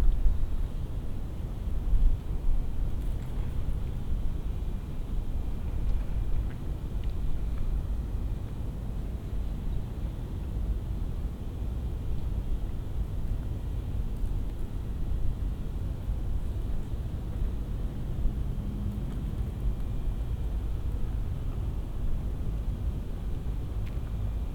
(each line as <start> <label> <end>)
0.0 wind 24.5